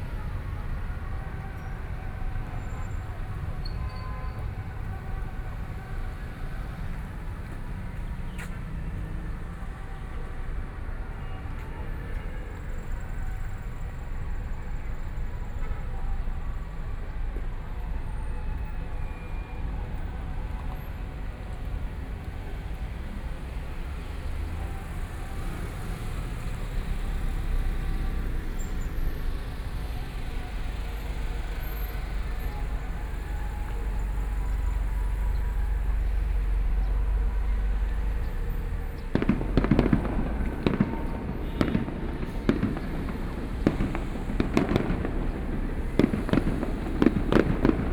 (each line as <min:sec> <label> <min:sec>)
0:00.0 Traffic Sound 0:47.9
0:30.2 Fireworks sound 0:47.9